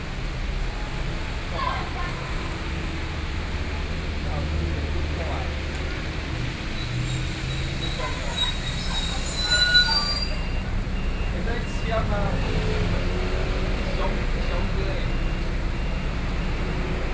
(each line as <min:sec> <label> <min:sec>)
0:00.0 Traffic noise 0:17.1
0:00.0 crowd 0:17.1